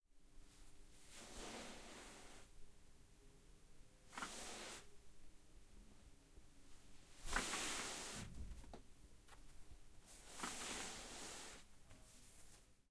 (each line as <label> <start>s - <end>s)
Pulling a blanket off of a chair 1.0s - 2.5s
Pulling a blanket off of a chair 7.2s - 8.4s
Pulling a blanket off of a chair 10.1s - 12.5s